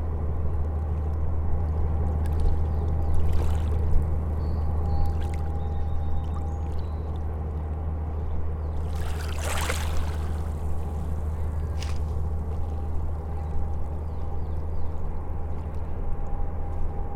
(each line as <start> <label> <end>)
0.0 waves lapping from ferry 16.2
0.0 Ferry departure 17.1